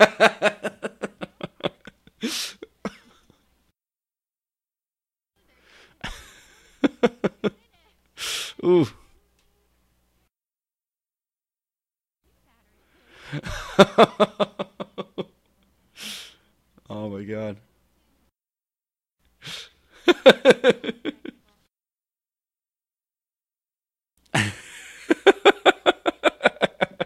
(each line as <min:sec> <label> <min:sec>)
0:00.0 sincere laughing from a man 0:03.4
0:06.0 sincere laughing from a man 0:07.5
0:13.2 sincere laughing from a man 0:15.3
0:19.5 sincere laughing from a man 0:21.4
0:24.3 sincere laughing from a man 0:27.0